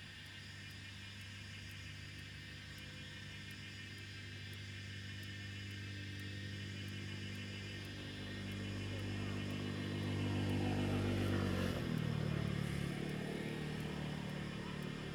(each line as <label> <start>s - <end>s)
Cicadas sound 0.1s - 15.1s
Traffic Sound 9.1s - 15.1s